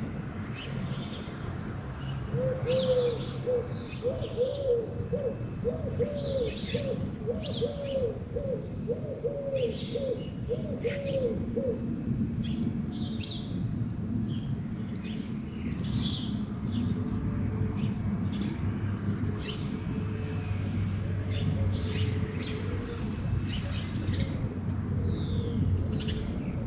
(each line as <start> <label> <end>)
0.0 birds everywhere 26.6